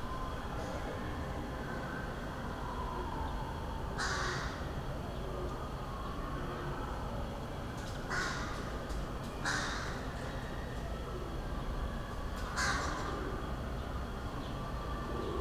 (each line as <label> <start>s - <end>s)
crows 4.0s - 4.6s
crows 8.1s - 8.7s
crows 9.4s - 10.1s
crows 12.5s - 13.2s